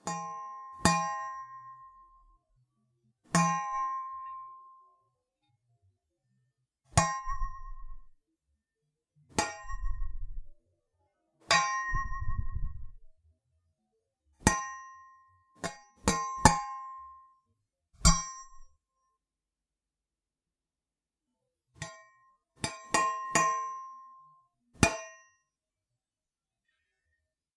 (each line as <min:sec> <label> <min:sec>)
0:00.0 Hitting a metal spatula 0:02.3
0:03.3 Hitting a metal spatula 0:05.1
0:06.9 Hitting a metal spatula 0:08.2
0:09.3 Hitting a metal spatula 0:10.6
0:11.4 Hitting a metal spatula 0:13.1
0:14.4 Hitting a metal spatula 0:17.4
0:18.0 Hitting a metal spatula 0:18.9
0:21.7 Hitting a metal spatula 0:25.5